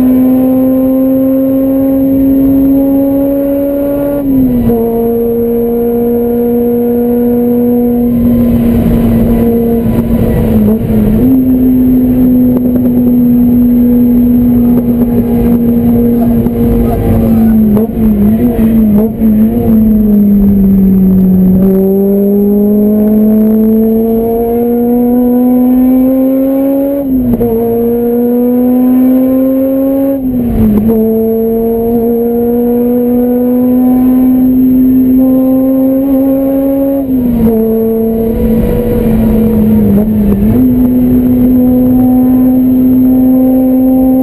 0.0s Shifting gears 44.2s
0.0s car racing 44.2s

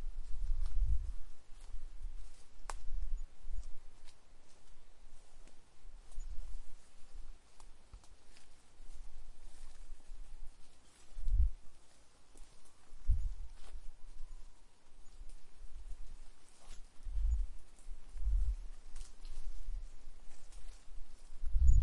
5.6s birds 21.8s

